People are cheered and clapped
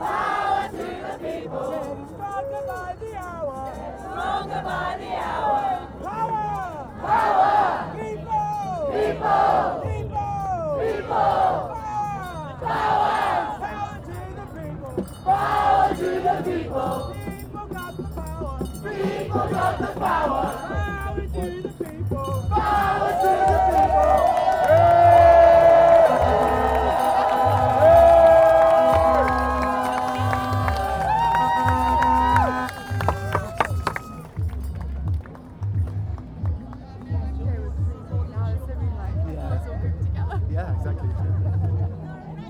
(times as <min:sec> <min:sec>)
0:22.2 0:37.6